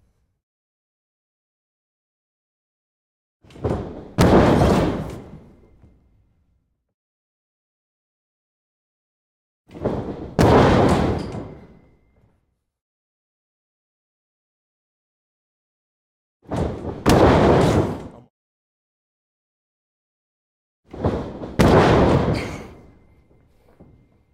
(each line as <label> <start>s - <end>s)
heavy wrestler fall on mat 3.5s - 5.8s
heavy wrestler fall on mat 16.5s - 18.1s
heavy wrestler fall on mat 20.9s - 24.1s